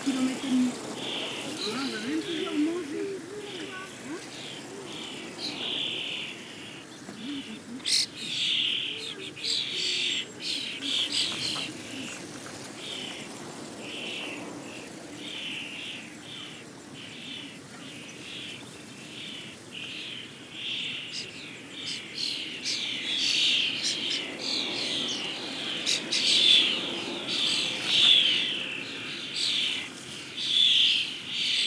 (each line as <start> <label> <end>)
0.0 Common Starling colony, singing 31.6
0.0 tourists cycling 31.6
0.0 wind in the grass 31.6